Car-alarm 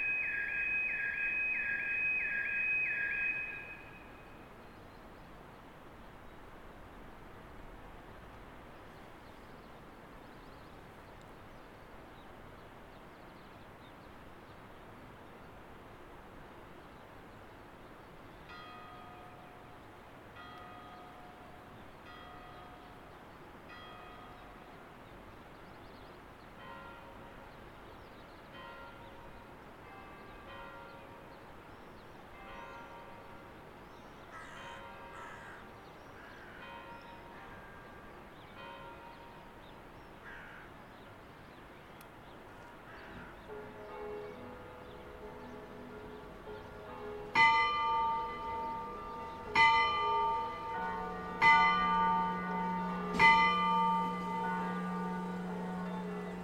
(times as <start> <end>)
0.0 4.2